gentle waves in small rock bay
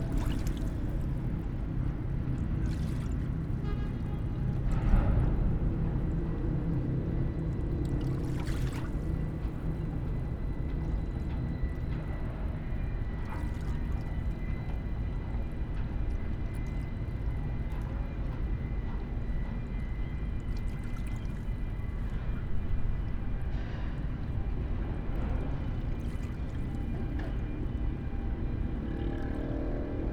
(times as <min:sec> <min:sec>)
0:07.9 0:10.3